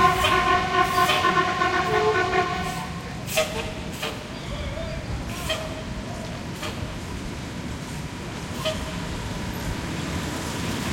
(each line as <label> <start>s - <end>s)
traffic along big boulevard 0.0s - 10.9s